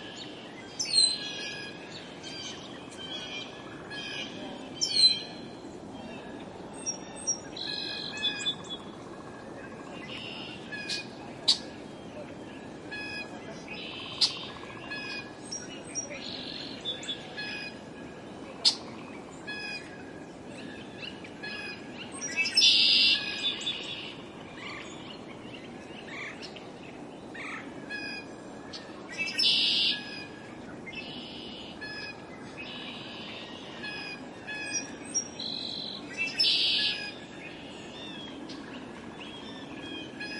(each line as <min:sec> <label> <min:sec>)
0:00.0 American Robin 0:40.3
0:00.0 Northern Cardinal 0:40.3
0:00.0 Song Sparrow 0:40.3
0:00.0 wind rustling through the trees 0:40.3
0:00.1 Red-winged Blackbird 0:40.3
0:13.8 Red-Bellied Woodpecker 0:15.2